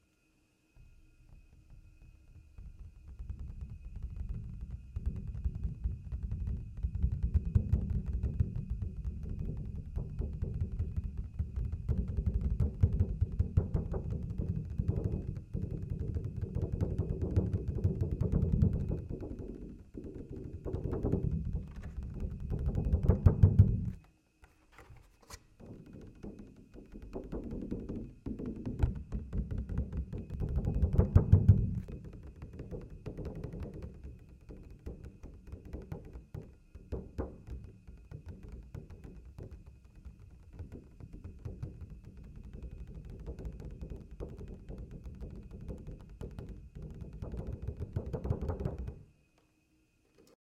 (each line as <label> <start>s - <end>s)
Tapping 1.6s - 49.0s